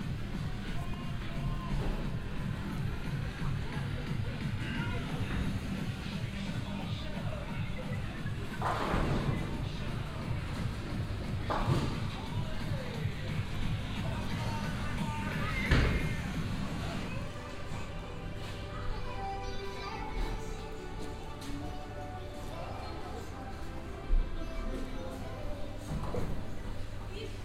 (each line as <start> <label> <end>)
0.0 music 27.4
0.0 people playing bowling 27.4